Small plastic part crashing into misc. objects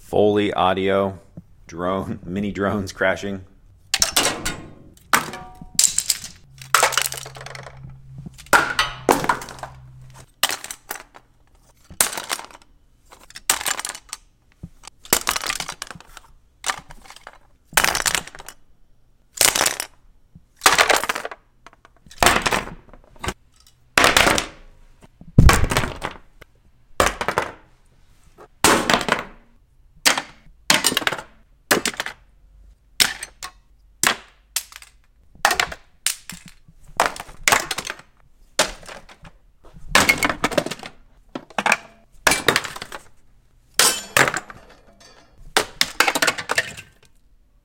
4.0 18.6, 19.4 20.0, 20.6 24.6, 25.4 26.2, 30.0 32.2, 33.0 43.2, 43.8 47.2

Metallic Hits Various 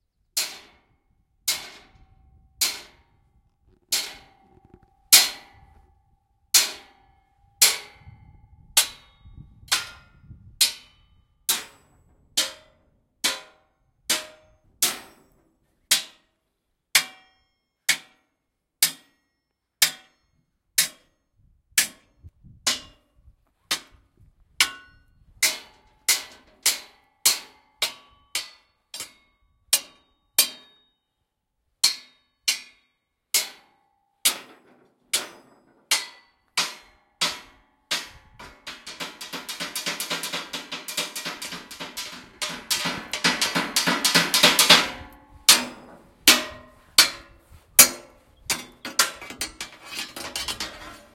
33.4 51.1

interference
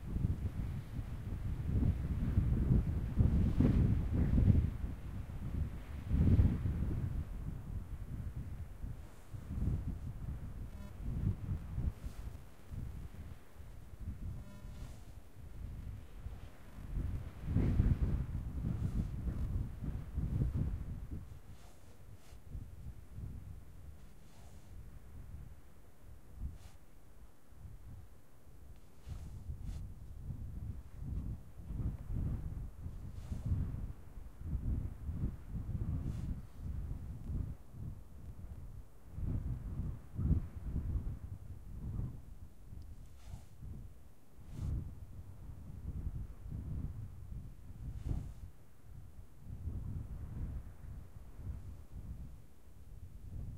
14.3 15.2

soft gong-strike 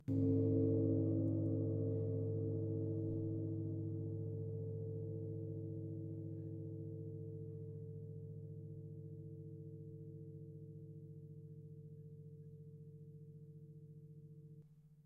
0.0 6.5

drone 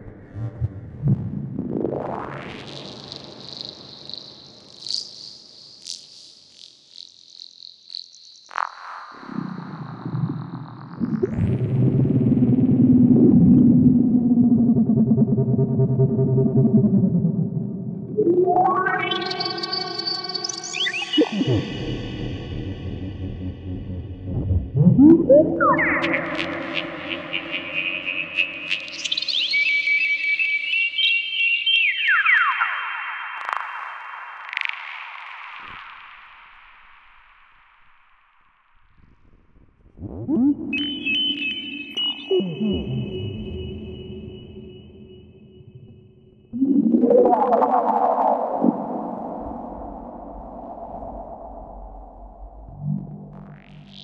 20.7 28.8

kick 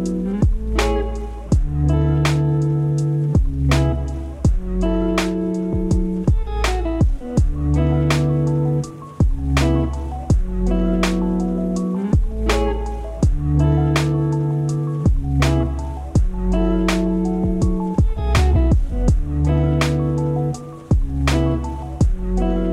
1.5 1.8, 3.4 3.6, 4.4 4.7, 5.8 7.6, 10.3 10.5, 13.2 13.4, 15.1 15.3, 16.2 16.4, 17.4 19.3, 20.9 21.2, 22.0 22.2

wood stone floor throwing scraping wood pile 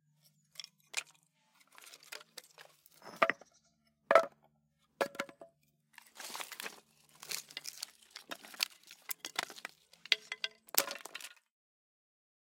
0.6 3.5, 4.1 4.3, 5.0 11.5

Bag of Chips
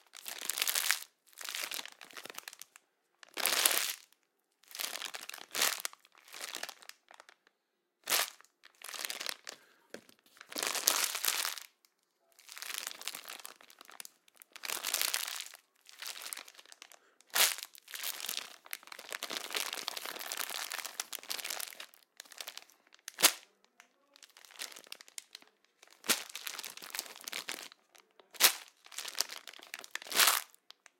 12.4 30.6

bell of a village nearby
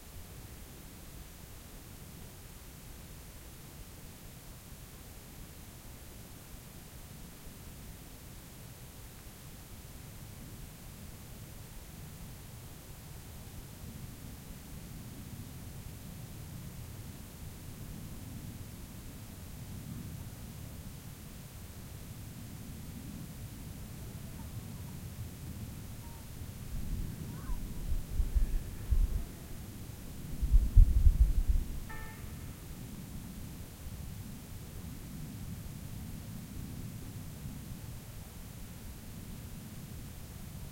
31.9 33.0

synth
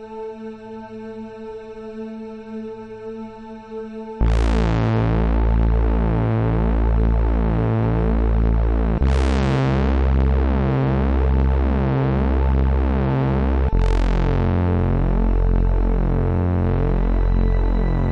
4.2 18.1

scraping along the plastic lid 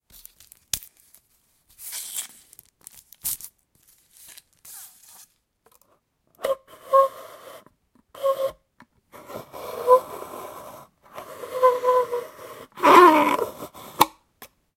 9.2 14.1

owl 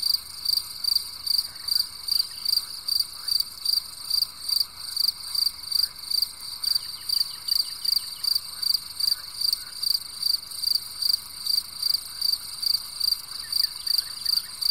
13.3 14.7

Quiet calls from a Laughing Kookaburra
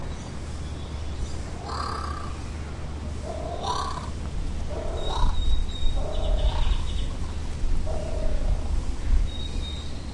1.6 2.4, 3.2 8.4

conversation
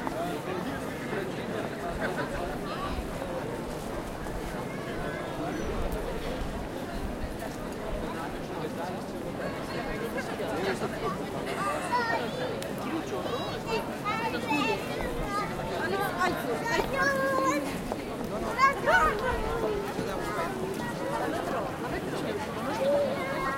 9.8 23.5

